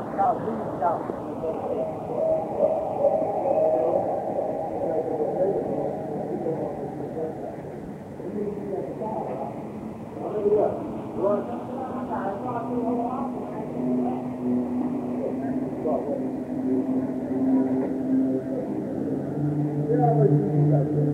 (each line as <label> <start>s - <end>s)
speaker or two playing some ambient sounds 0.0s - 21.1s